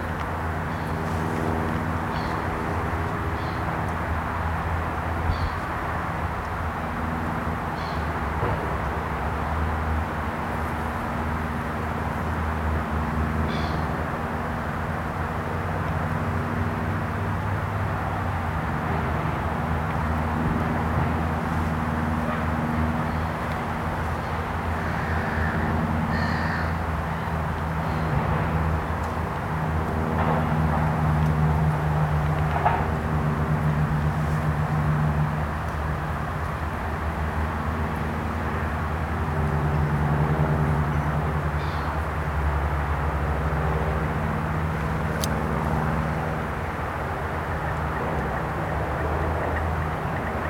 0.0s propeller aircraft overhead 50.4s
0.0s road traffic noise 50.4s
0.6s birds 3.9s
5.3s birds 5.8s
7.7s birds 8.2s
13.5s birds 14.0s
41.6s birds 42.0s

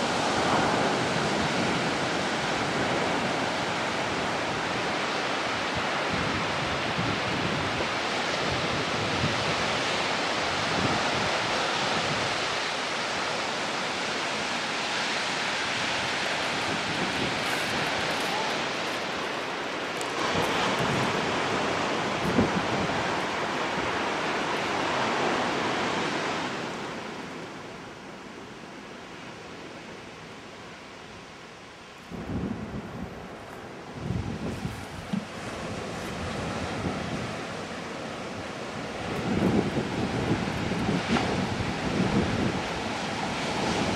4.7s puppies surfing and walking 26.4s

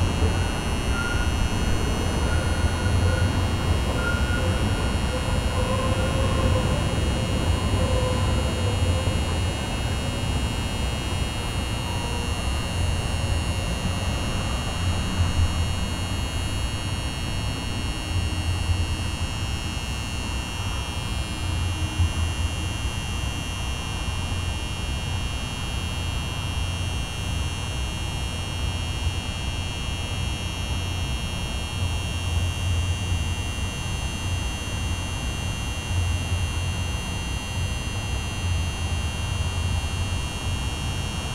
0.0s traffic 16.2s
0.0s helicopter flying overhead 18.4s

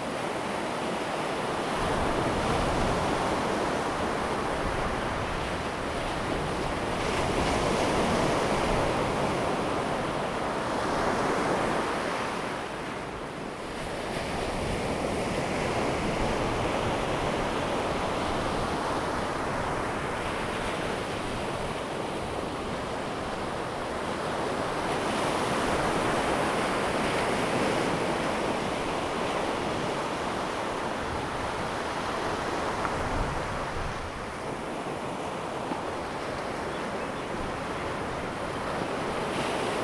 0.0s waves 39.8s

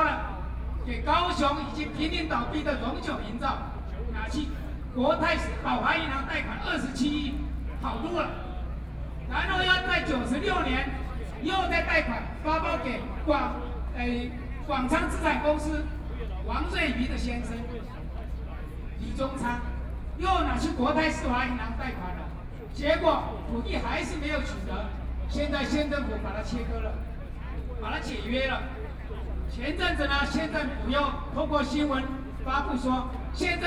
0.0s Speech 33.6s

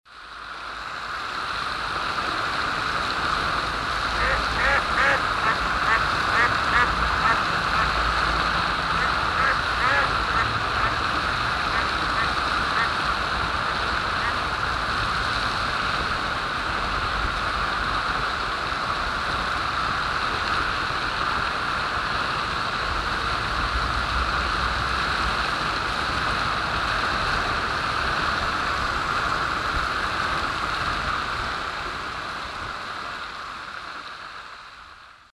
0.1s wasserfontäne im wind 35.0s

